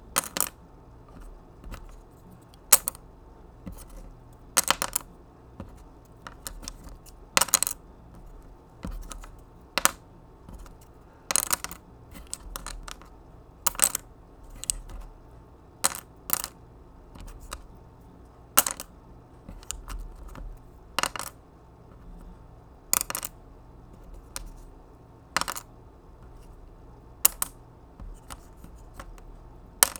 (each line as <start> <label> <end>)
0.2 Popsicle sticks dropping 2.0
4.6 Popsicle sticks dropping 5.0
6.2 Popsicle sticks dropping 7.8
9.8 Popsicle sticks dropping 10.0
11.3 Popsicle sticks dropping 13.1
13.7 Popsicle sticks dropping 14.0
15.8 Popsicle sticks dropping 16.5
18.6 Popsicle sticks dropping 18.9
21.0 Popsicle sticks dropping 21.4
22.9 Popsicle sticks dropping 23.3
25.4 Popsicle sticks dropping 25.7
29.8 Popsicle sticks dropping 29.9